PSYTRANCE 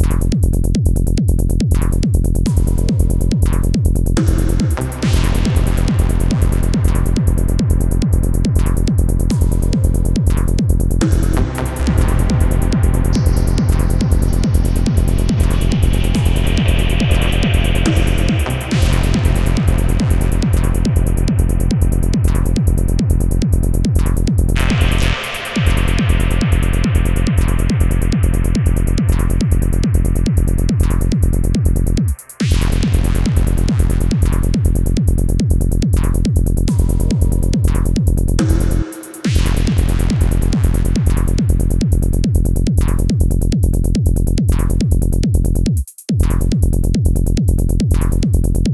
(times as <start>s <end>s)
3.6s 33.7s